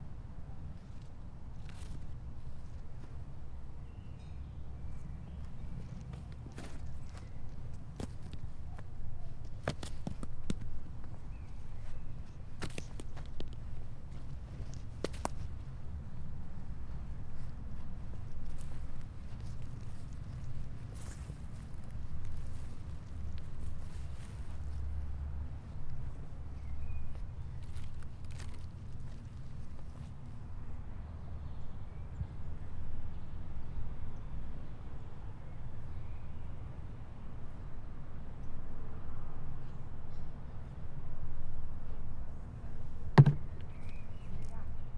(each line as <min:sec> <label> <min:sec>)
0:43.2 Kicking a cone 0:43.5